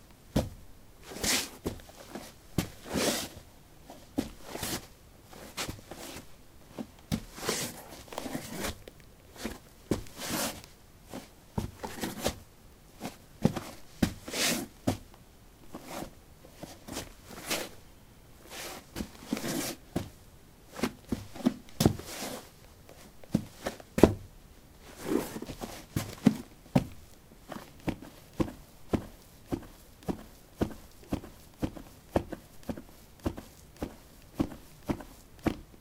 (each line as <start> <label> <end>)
1.0 Shuffling on soil 12.4
15.8 Shuffling on soil 17.8
18.5 Shuffling on soil 19.9
20.7 Shuffling on soil 23.8
24.8 Shuffling on soil 26.5